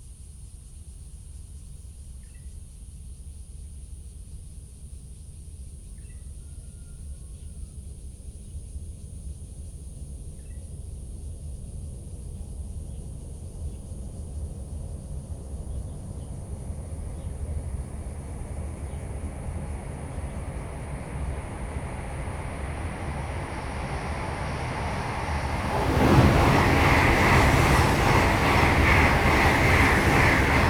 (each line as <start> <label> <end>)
16.3 The train passes through 30.6